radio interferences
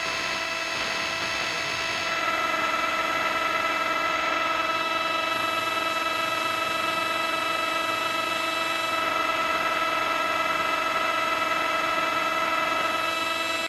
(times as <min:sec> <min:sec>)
0:00.0 0:05.2